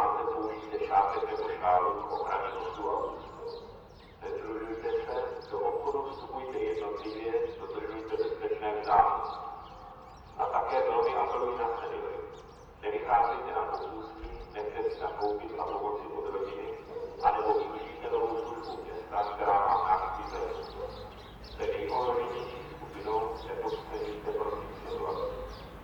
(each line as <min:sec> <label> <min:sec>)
0:00.0 City radio announcement 0:09.7
0:10.4 City radio announcement 0:25.8